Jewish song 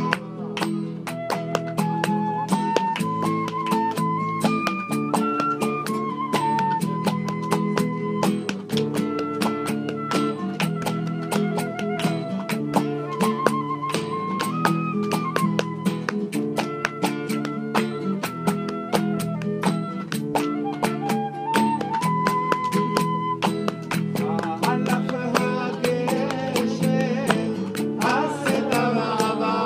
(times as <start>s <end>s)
23.9s 29.6s